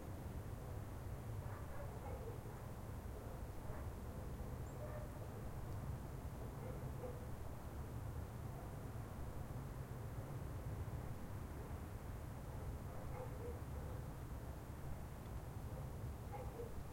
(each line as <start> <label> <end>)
1.4 dog 4.0
4.7 dog 5.2
6.4 dog 7.3
12.5 dog 14.0
15.8 dog 16.9